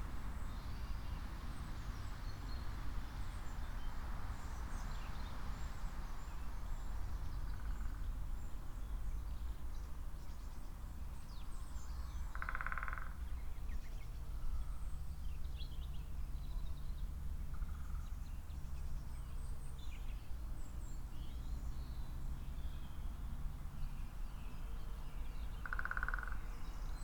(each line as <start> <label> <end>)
12.3 Great Spotted Woodpecker Drumming 13.2
25.6 Great Spotted Woodpecker Drumming 26.5